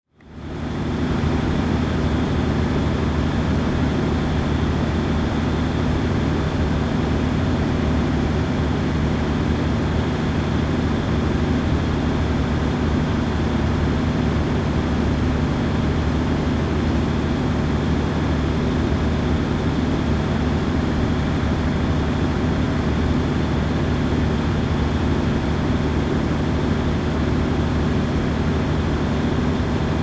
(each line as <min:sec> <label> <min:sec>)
0:00.2 large electricity generator 0:30.0